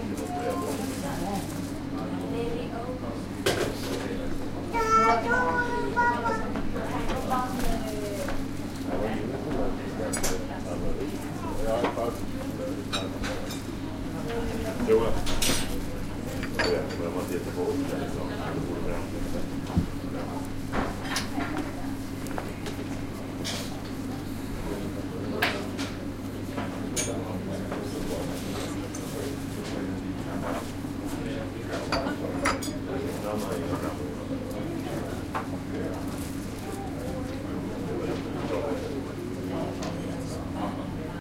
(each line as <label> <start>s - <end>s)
people talking 0.0s - 22.8s
children in the background 4.6s - 8.4s
people talking 23.4s - 41.2s